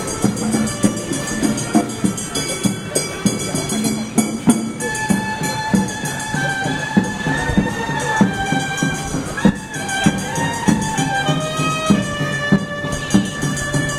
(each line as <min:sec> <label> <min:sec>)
0:00.0 musical group plays 0:13.9